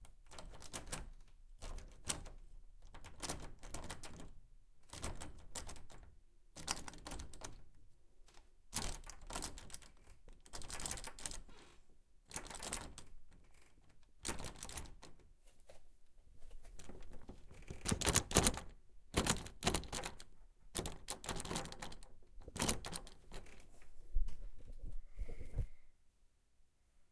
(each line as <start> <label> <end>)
0.3 door handle violently jiggled 4.3
4.9 door handle violently jiggled 6.0
17.0 door handle violently jiggled 23.6